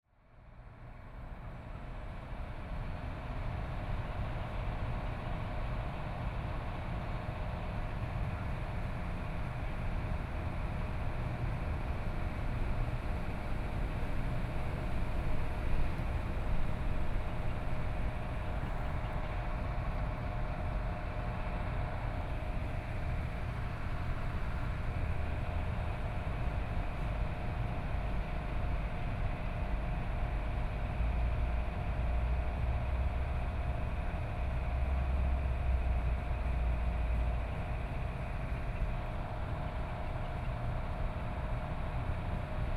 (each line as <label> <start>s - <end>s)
Trains traveling through 1.8s - 42.7s